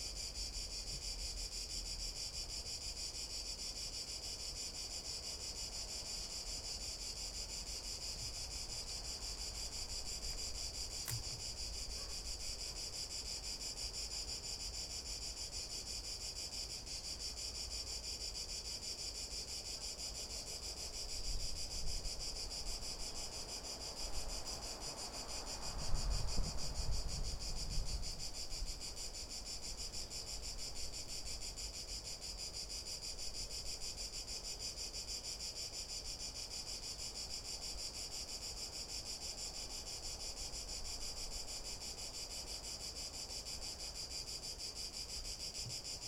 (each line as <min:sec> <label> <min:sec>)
0:11.0 coche pasar 0:12.1